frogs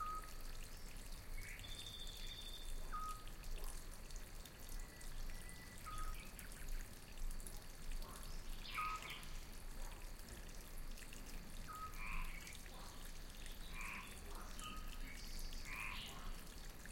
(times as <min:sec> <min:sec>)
0:08.0 0:09.4, 0:11.6 0:16.6